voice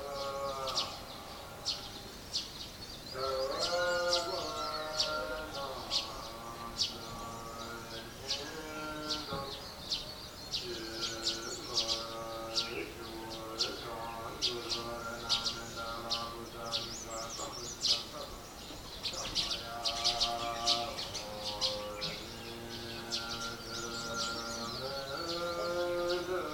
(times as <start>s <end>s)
10.6s 18.5s, 19.1s 22.4s